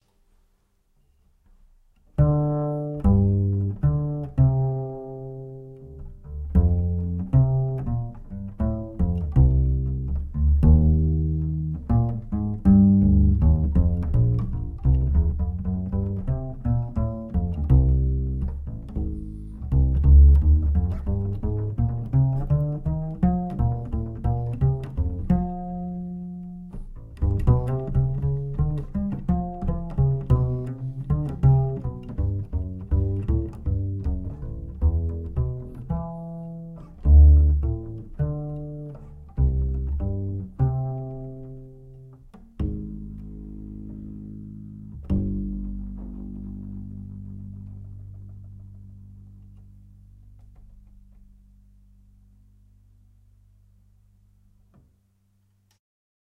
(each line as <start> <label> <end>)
1.3 Acoustic bass 55.7